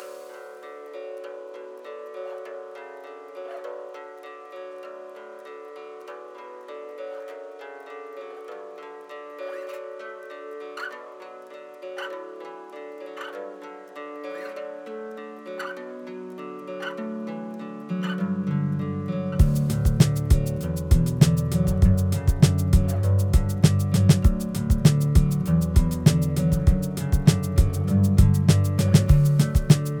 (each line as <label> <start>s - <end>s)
acoustic guitar 0.0s - 30.0s
drum samples 19.4s - 30.0s